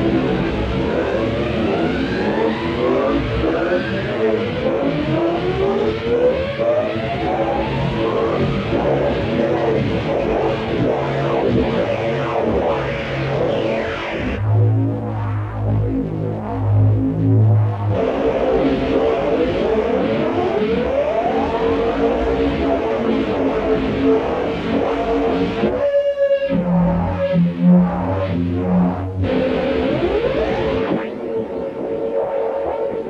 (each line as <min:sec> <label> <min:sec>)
0:00.0 siren noise 0:16.1
0:16.8 siren noise 0:33.0